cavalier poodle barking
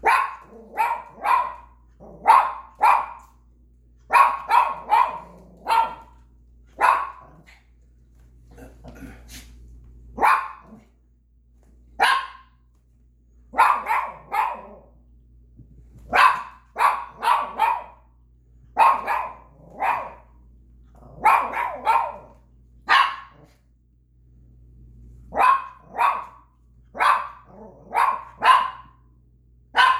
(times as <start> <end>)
0.0 3.4, 4.1 7.6, 10.2 10.9, 12.0 12.6, 13.5 15.0, 16.0 18.1, 18.8 20.4, 21.0 23.6, 25.3 29.0, 29.7 29.9